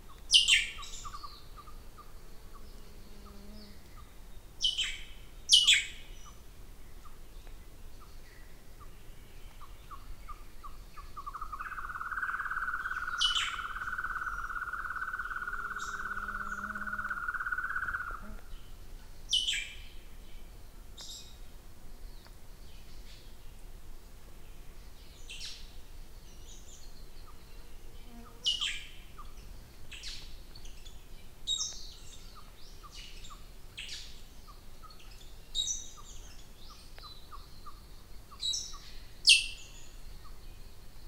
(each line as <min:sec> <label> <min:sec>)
0:11.4 raven 0:18.4